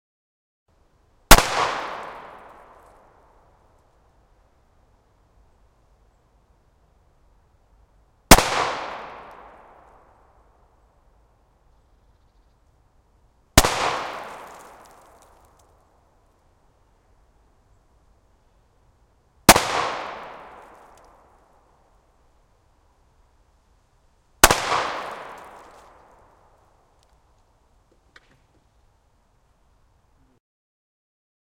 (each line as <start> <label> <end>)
1.3 gunshot 2.8
8.3 gunshot 9.7
13.6 gunshot 15.0
19.5 gunshot 20.9
24.4 gunshot 26.0